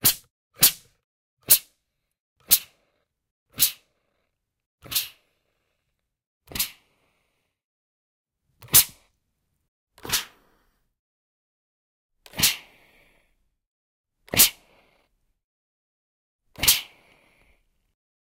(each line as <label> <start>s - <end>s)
steam spray thing on an iron 3.6s - 3.8s
steam spray thing on an iron 4.8s - 5.2s
steam spray thing on an iron 6.5s - 6.8s
steam spray thing on an iron 16.6s - 17.0s